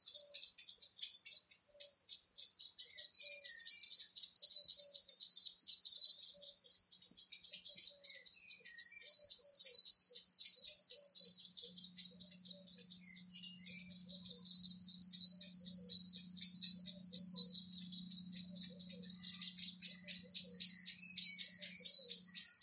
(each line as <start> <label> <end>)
0.0 birdsong 22.6